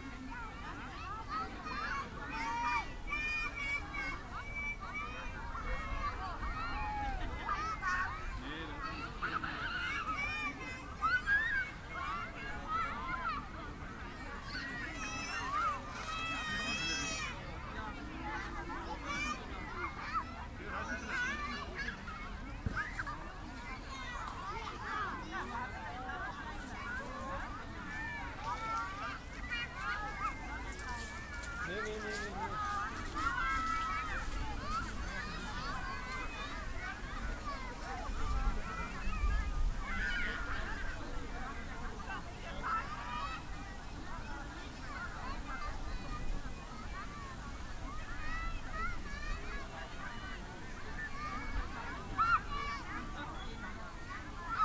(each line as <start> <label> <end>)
0.0 kids and their parents gathering 54.6
23.8 kites in the air 53.2